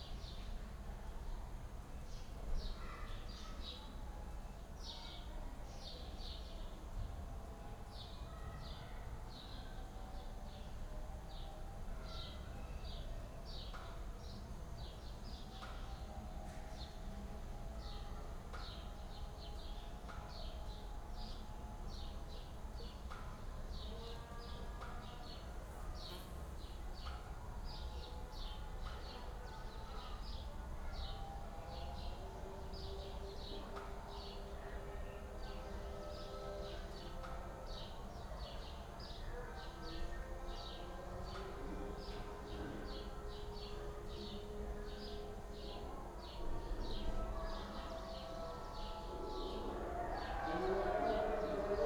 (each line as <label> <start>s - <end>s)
prayer calls from nearby and distant mosques 0.0s - 51.8s
dogs start to howl 47.6s - 51.8s